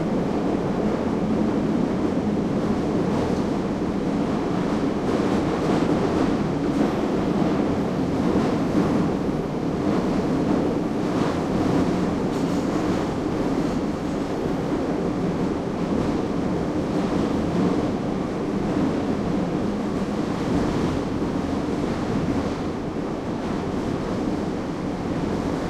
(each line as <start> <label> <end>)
0.0 Subway train travels from station to station 25.6